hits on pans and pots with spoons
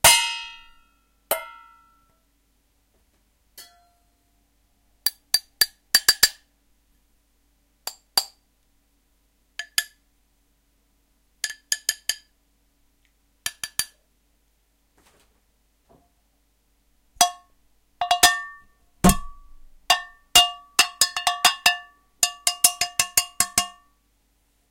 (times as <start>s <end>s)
0.0s 1.8s, 17.2s 23.8s